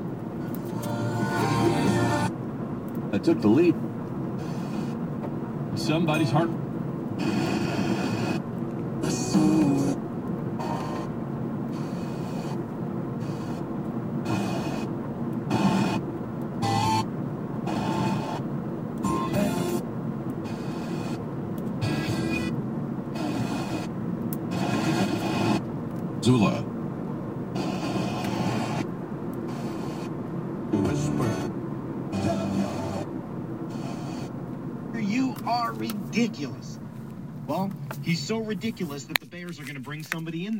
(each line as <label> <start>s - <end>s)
Car 0.0s - 40.2s
Music 0.5s - 2.3s
Radio Dial Tuning 0.5s - 2.3s
Radio Dial Tuning 4.4s - 5.0s
Radio Dial Tuning 7.1s - 12.6s
Radio Dial Tuning 13.2s - 14.9s
Radio Dial Tuning 15.5s - 16.0s
Radio Dial Tuning 16.6s - 18.4s
Radio Dial Tuning 19.0s - 19.8s
Music 19.1s - 19.8s
Radio Dial Tuning 20.4s - 21.2s
Radio Dial Tuning 21.8s - 23.9s
Radio Dial Tuning 24.5s - 26.6s
Radio Dial Tuning 27.5s - 33.1s
Music 30.8s - 31.5s
Music 32.2s - 33.0s
Radio Dial Tuning 33.7s - 34.4s